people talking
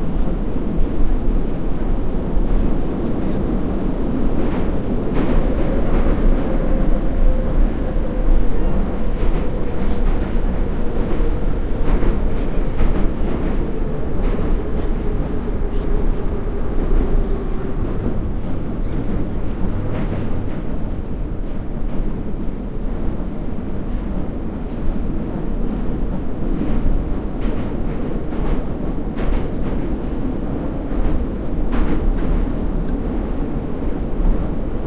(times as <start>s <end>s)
5.2s 19.5s